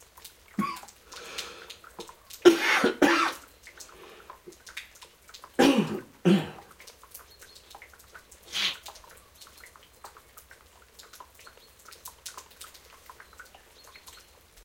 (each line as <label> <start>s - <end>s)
raindrops 0.0s - 14.6s
man coughing 0.6s - 0.8s
man coughing 2.5s - 3.4s
man coughing 5.6s - 6.6s